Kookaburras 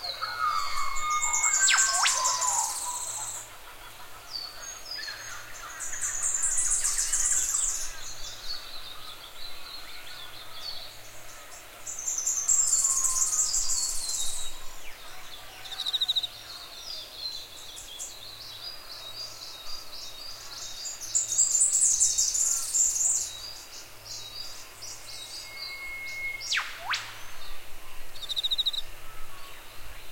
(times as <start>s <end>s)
0.0s 6.6s